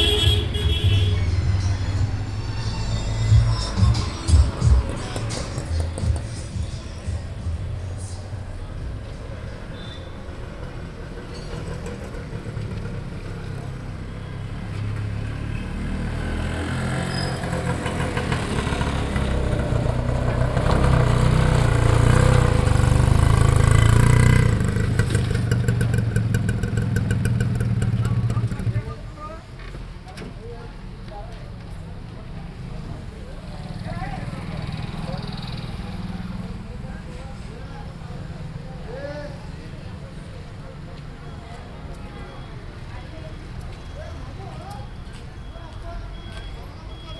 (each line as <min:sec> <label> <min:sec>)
0:00.0 bus 0:47.1
0:00.0 rickshaw 0:47.1
0:00.0 road traffic 0:47.1